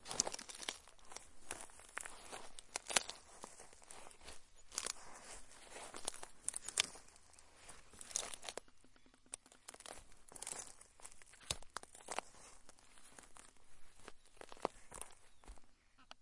plant crackle 0.0 - 8.6
plant crackle 9.3 - 15.7

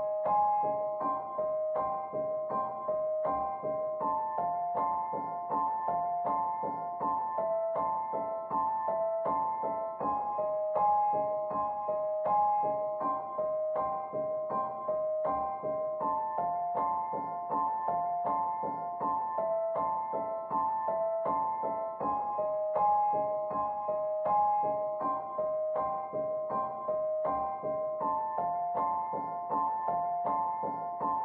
piano 0.0 - 31.2

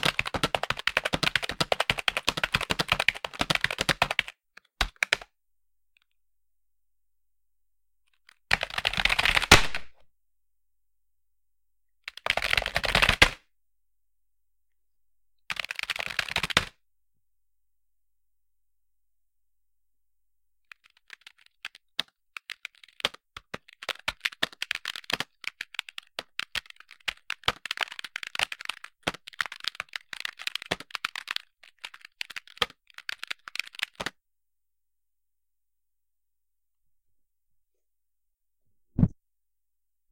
Typing on computer keyboard 0.0 - 5.2
Typing on computer keyboard 8.3 - 9.4
Typing on computer keyboard 12.1 - 13.4
Typing on computer keyboard 15.5 - 16.7
Typing on computer keyboard 20.7 - 34.2

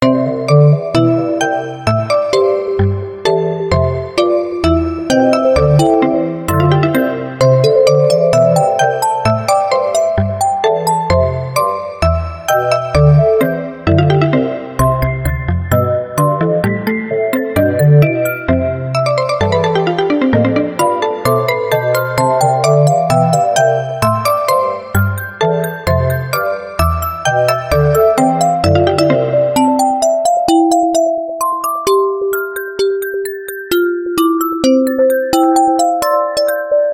Classical piece 15.3 - 26.7

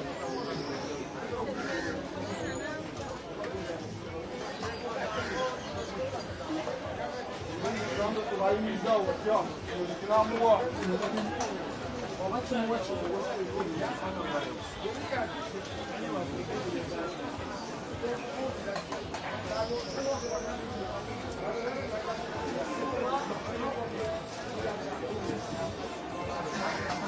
faint music 0.0 - 27.0

